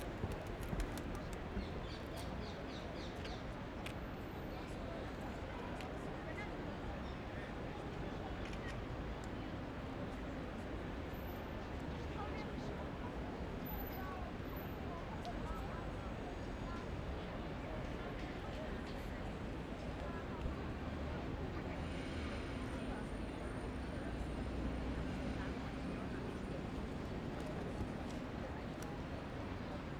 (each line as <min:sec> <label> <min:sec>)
0:00.0 tourists, locals 0:29.9
0:00.0 traffic 0:29.9
0:00.0 dove flying away 0:01.6